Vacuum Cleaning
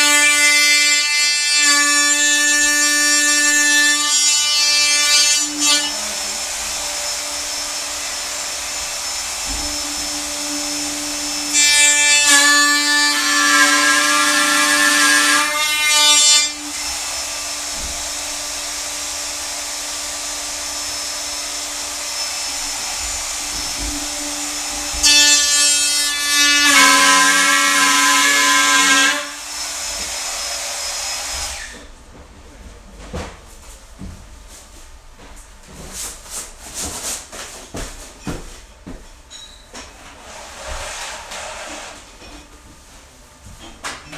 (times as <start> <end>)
1.7 31.9, 40.0 42.2